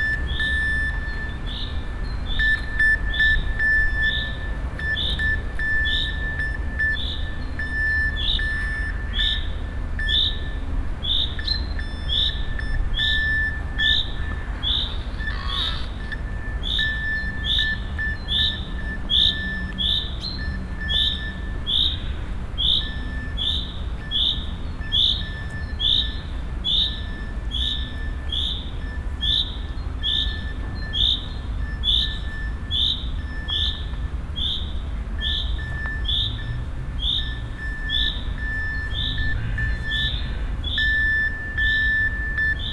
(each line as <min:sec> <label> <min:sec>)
0:00.0 morse code 0:42.7